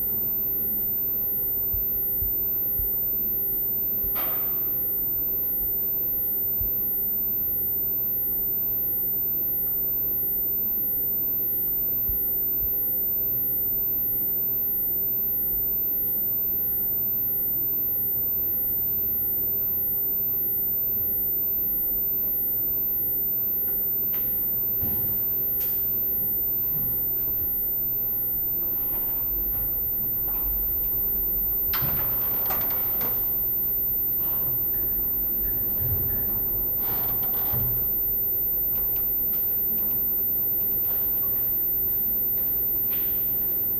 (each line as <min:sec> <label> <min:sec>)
0:25.2 Radio-frequency EAS Systems 0:43.7